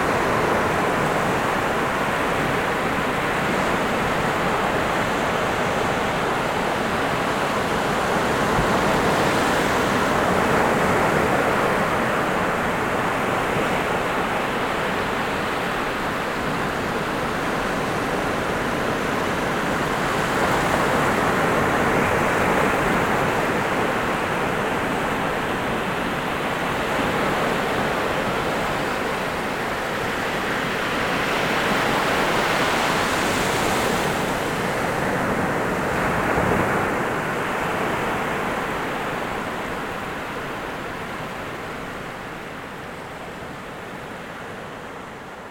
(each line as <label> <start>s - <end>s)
The sea 0.0s - 45.5s